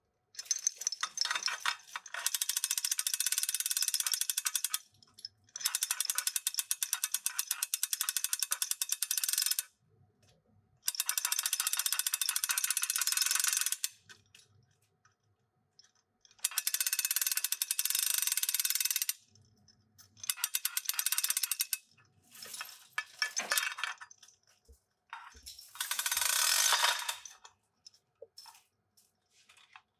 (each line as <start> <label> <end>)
25.7 Pulling on a Heavy-duty pull chain 27.3